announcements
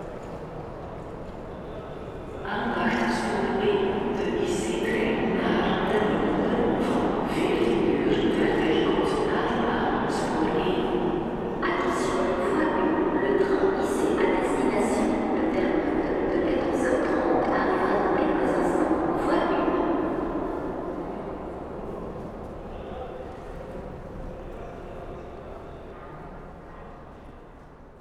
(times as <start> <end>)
2.4 21.0